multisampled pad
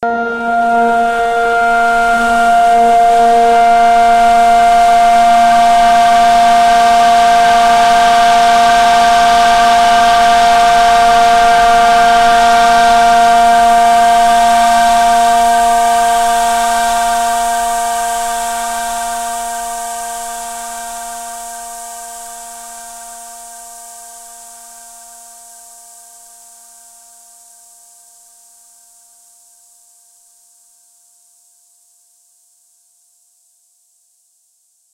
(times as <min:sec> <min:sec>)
0:00.0 0:23.5